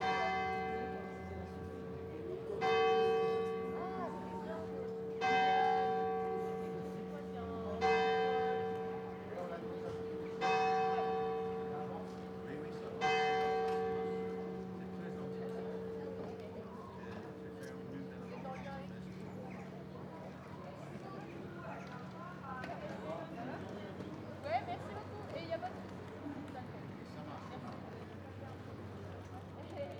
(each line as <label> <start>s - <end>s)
bells 0.0s - 18.3s